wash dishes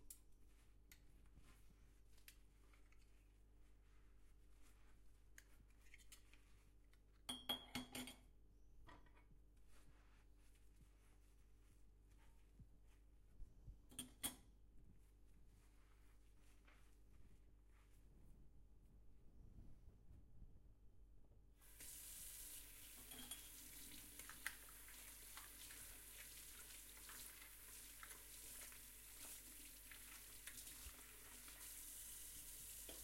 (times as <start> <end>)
21.6 33.0